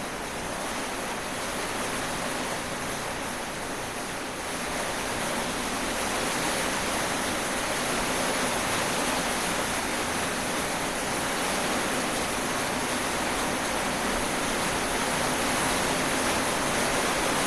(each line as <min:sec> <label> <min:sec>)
0:00.0 Rain sound from within of stairs with a plastic ceiling 0:17.4